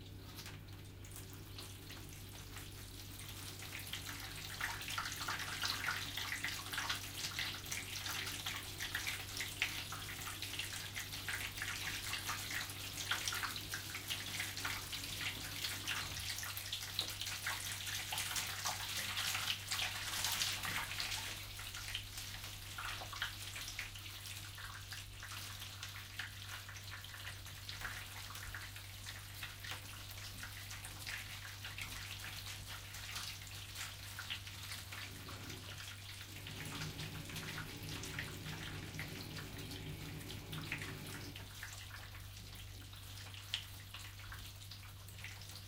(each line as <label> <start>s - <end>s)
Bathroom tubes gurgling 30.2s - 43.2s